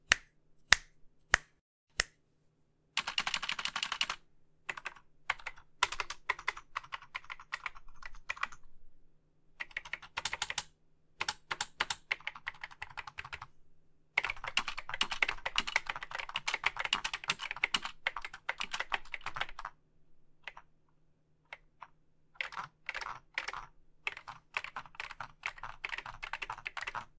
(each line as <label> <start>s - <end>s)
Keyboard Typing Sounds 3.0s - 8.7s
Keyboard Typing Sounds 9.6s - 13.5s
Keyboard Typing Sounds 14.2s - 19.8s
Keyboard Typing Sounds 20.4s - 20.7s
Keyboard Typing Sounds 21.5s - 27.1s